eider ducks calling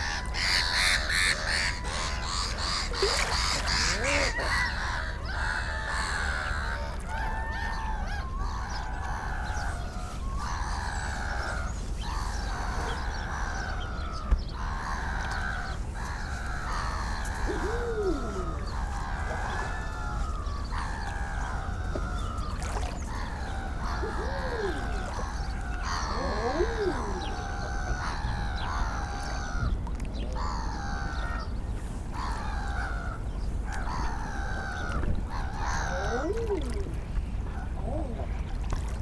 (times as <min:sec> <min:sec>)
0:00.0 0:06.7, 0:14.6 0:29.4